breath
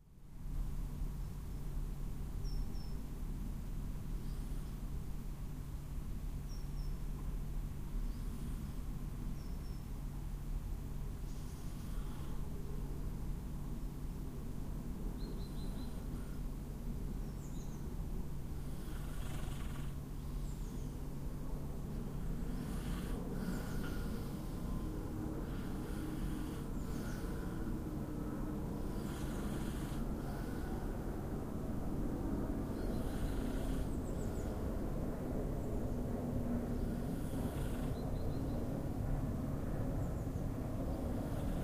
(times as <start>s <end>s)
11.6s 12.6s, 22.2s 27.9s, 28.8s 31.0s, 36.8s 37.9s